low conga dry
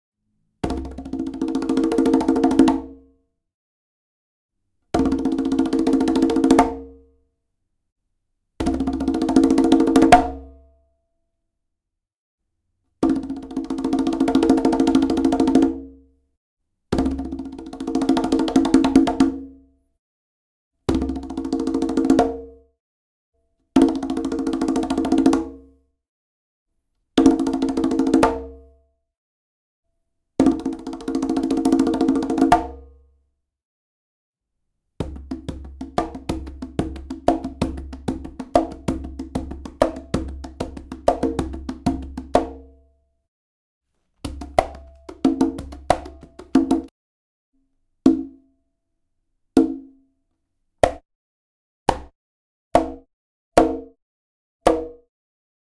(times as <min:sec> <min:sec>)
0:35.1 0:42.5, 0:44.2 0:46.9